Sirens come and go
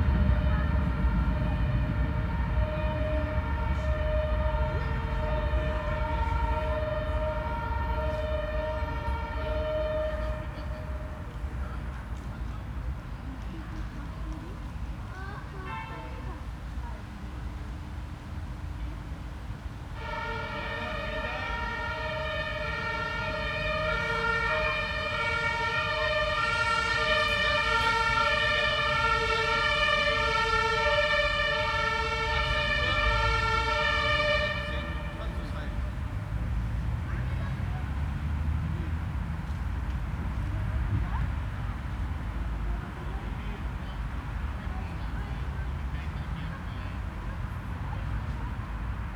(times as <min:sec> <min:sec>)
0:00.0 0:12.3, 0:20.0 0:38.2